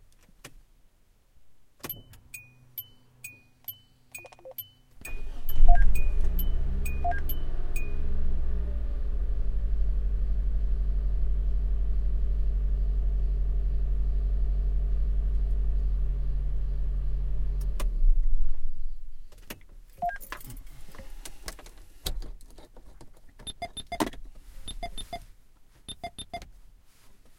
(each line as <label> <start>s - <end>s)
Car engine starting 5.0s - 19.2s